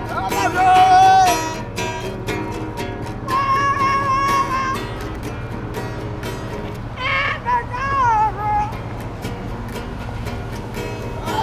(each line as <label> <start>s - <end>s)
wailing outsider 3.2s - 5.0s
wailing outsider 7.0s - 8.8s